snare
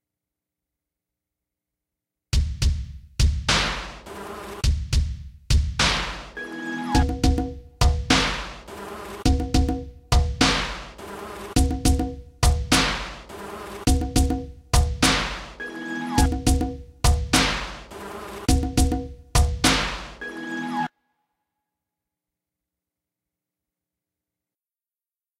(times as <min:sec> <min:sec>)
0:03.5 0:04.7, 0:05.8 0:06.4, 0:08.0 0:09.3, 0:10.4 0:11.6, 0:12.7 0:13.9, 0:15.0 0:15.6, 0:17.3 0:18.6, 0:19.6 0:20.2